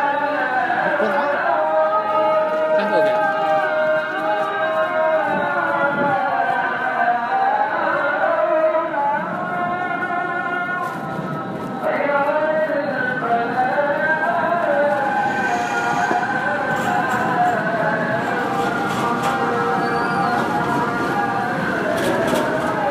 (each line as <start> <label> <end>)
0.0 tram 22.9
14.6 Song 17.8